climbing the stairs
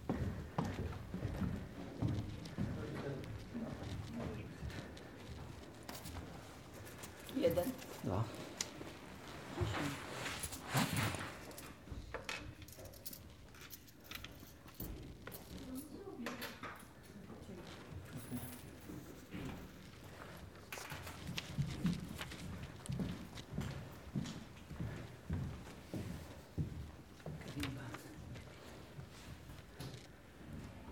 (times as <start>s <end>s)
0.0s 12.6s